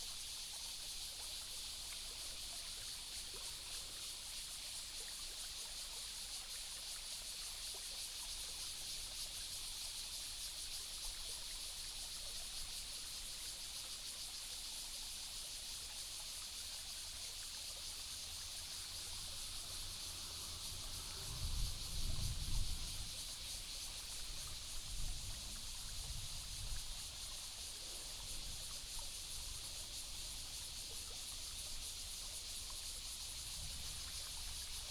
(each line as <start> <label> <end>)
0.0 Cicadas sound 34.9
17.0 water streams 34.9